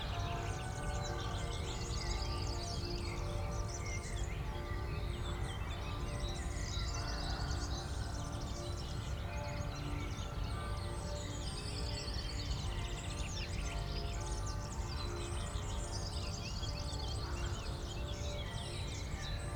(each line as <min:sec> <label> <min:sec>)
0:00.0 church bells 0:19.5
0:00.0 gentle wind 0:19.5